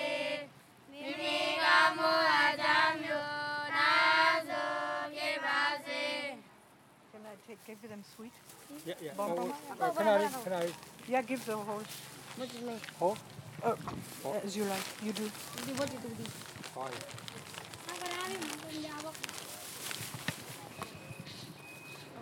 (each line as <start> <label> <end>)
7.5 little nuns go for alms 20.8